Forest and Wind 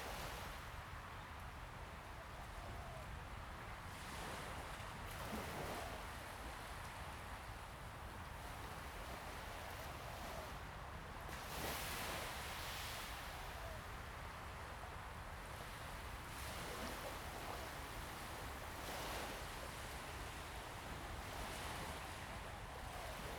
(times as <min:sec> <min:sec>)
0:07.3 0:23.3